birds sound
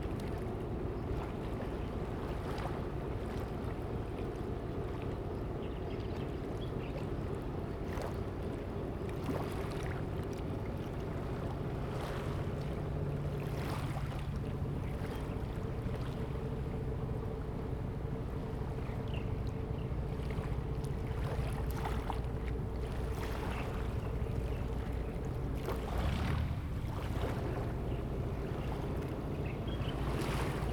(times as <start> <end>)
14.6 30.7